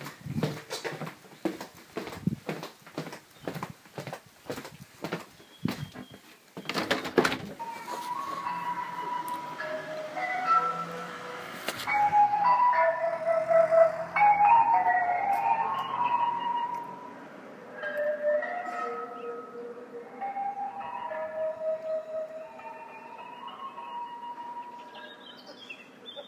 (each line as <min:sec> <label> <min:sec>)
0:07.6 mobile ice cream shop 0:26.2